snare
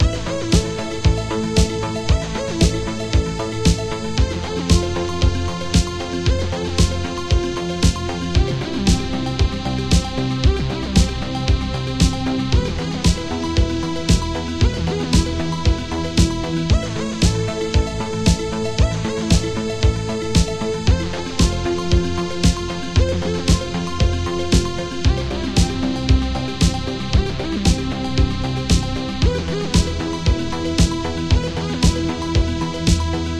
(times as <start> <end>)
4.7 6.2, 6.8 8.2, 9.9 11.2, 11.9 12.4, 20.4 20.6, 21.4 22.8, 23.4 26.0, 26.6 31.2, 31.8 33.3